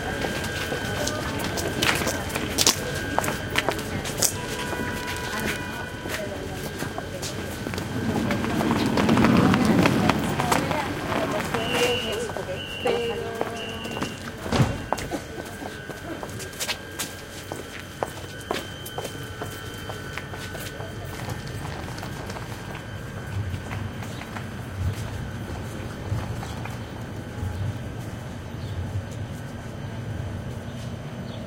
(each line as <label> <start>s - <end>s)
Street noise in background 0.0s - 31.4s
Voices 0.0s - 31.4s
tram arriving to platform 0.0s - 31.4s
tram car waiting for departure 0.0s - 31.4s